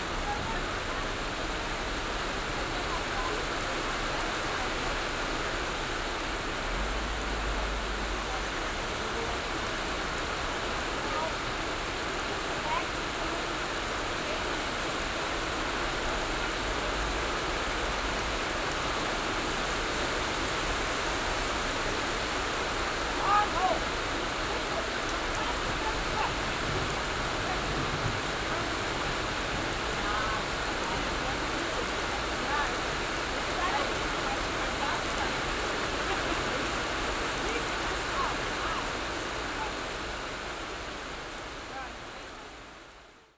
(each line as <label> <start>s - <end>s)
heavy rain 0.0s - 43.3s
conversation in english 22.5s - 39.9s